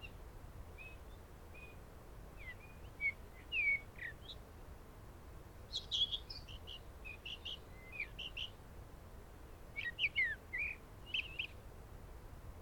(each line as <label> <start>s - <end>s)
blackbirds 0.0s - 4.5s
blackbirds 5.7s - 8.6s
blackbirds 9.4s - 11.6s